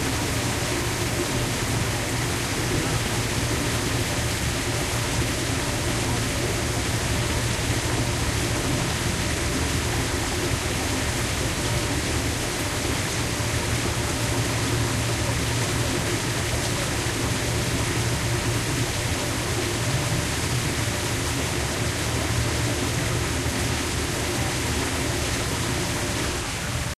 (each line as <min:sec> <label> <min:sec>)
0:00.0 noises of water 0:26.9